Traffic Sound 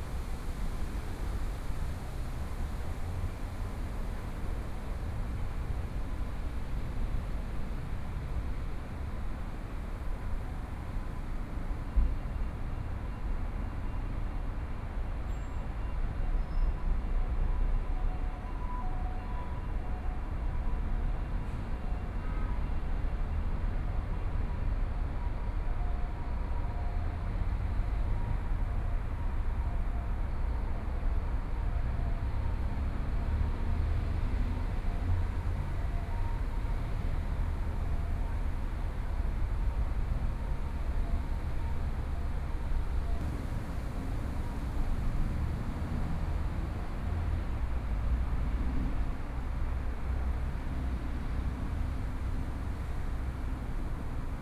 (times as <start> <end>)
27.1 54.4